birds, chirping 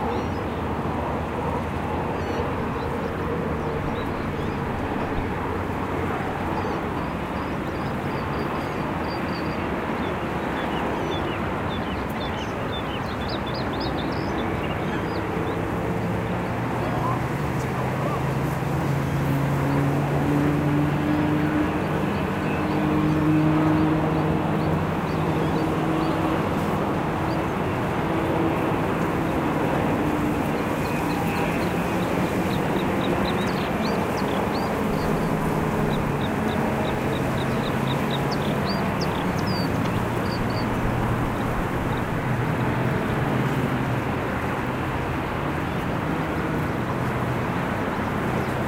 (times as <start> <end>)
2.1 18.4, 19.6 42.2